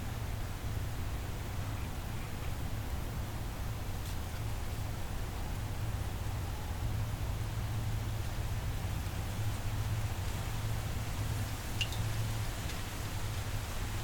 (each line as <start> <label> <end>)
6.0 water 14.0